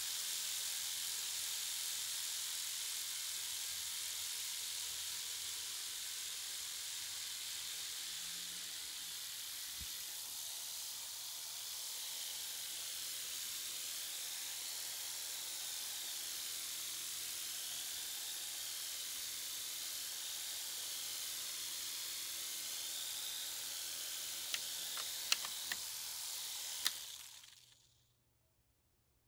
remote control helicopter 0.0 - 28.0

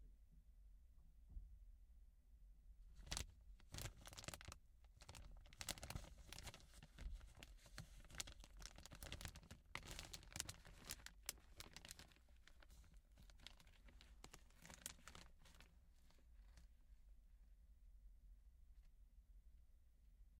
messing with a plastic bag 2.9 - 16.8

